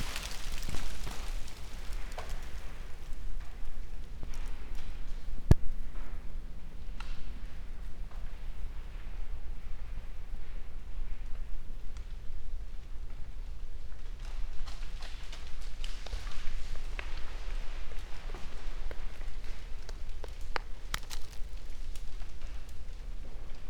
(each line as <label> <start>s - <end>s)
falling forest 0.0s - 3.3s